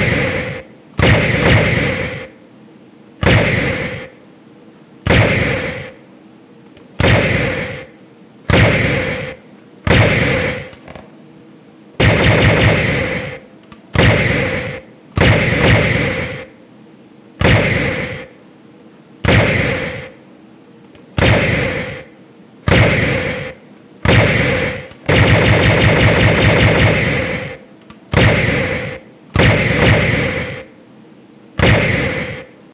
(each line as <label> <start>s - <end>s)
loud, punchy laserfire 0.0s - 2.4s
loud, punchy laserfire 3.2s - 4.2s
loud, punchy laserfire 5.0s - 6.0s
loud, punchy laserfire 7.0s - 10.8s
loud, punchy laserfire 12.0s - 16.6s
loud, punchy laserfire 17.4s - 18.4s
loud, punchy laserfire 19.2s - 20.2s
loud, punchy laserfire 21.2s - 22.1s
loud, punchy laserfire 22.7s - 30.7s
loud, punchy laserfire 31.6s - 32.6s